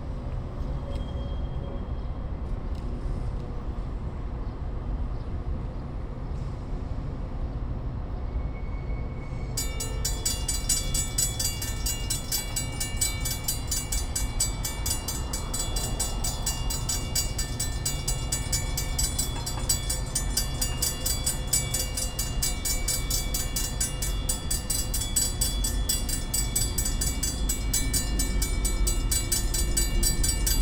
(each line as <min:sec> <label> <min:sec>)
0:00.0 railroad crossing 0:30.6